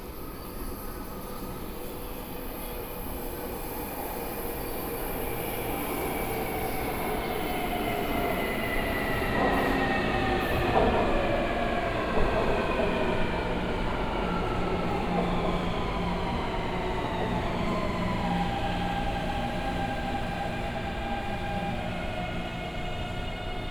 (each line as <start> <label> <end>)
0.0 Walking through the station 23.7